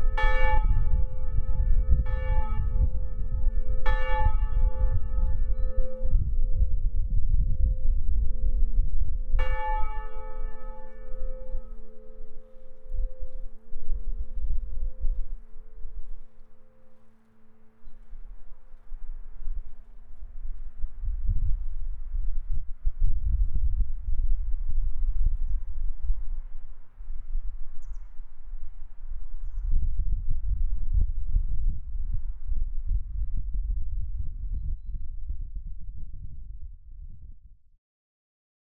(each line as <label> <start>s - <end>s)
Church bells 0.0s - 6.8s
heavy October winds 0.0s - 34.5s
Church bells 7.8s - 20.2s